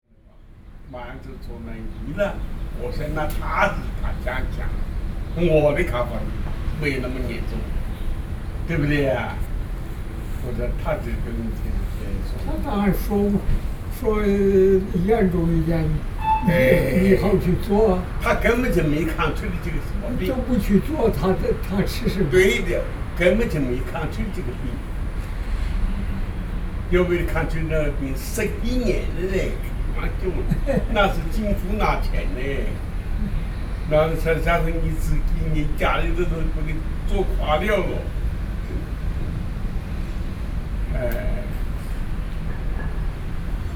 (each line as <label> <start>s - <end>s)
Two elderly 1.3s - 39.0s